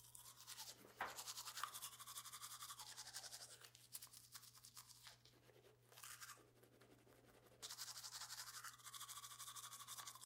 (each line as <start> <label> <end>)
0.0 Brushing Teeth 10.2